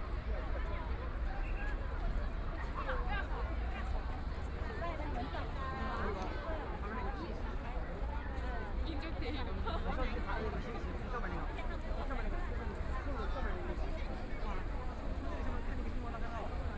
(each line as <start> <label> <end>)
0.0 Very many people and tourists 16.7